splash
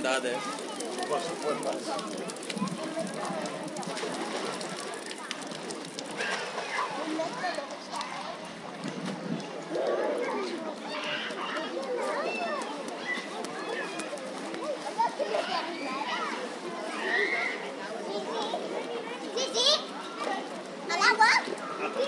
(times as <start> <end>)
0.0 10.3